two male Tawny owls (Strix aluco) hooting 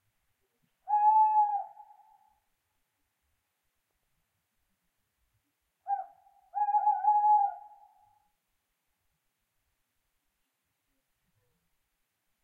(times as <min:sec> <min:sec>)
0:00.8 0:02.4, 0:05.8 0:08.3